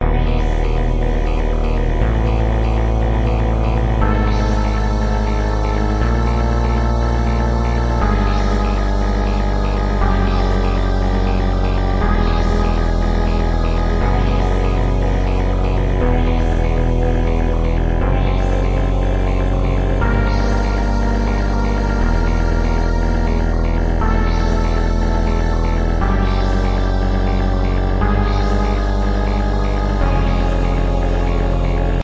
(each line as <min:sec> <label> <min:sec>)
0:00.0 synths 0:32.0